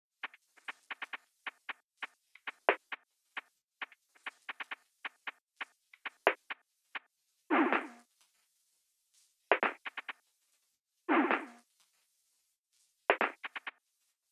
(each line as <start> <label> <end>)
0.2 bg perc loop 8.0
0.2 hihats 8.0
9.5 bg perc loop 10.1
9.5 hihats 10.2
13.1 bg perc loop 13.7
13.1 hihats 13.8